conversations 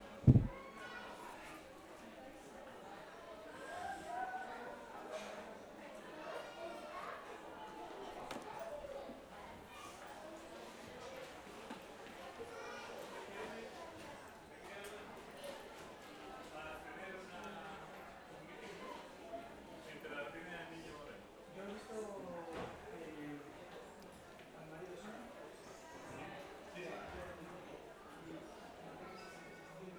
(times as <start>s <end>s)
0.0s 9.9s